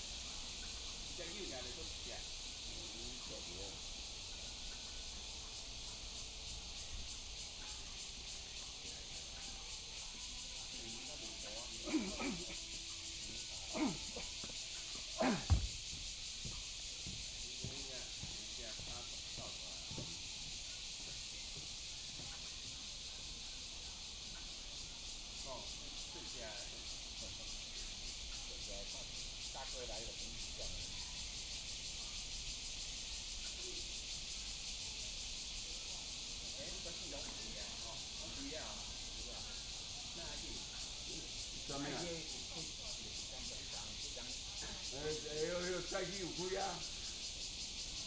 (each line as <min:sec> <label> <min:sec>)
0:00.0 Cicadas cry 0:48.0
0:00.0 Frogs chirping 0:48.0